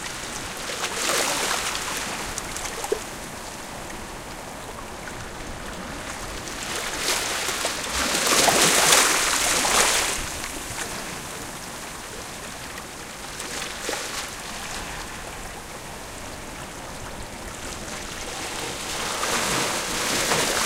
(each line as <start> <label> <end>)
0.0 waves coming to the beach 20.6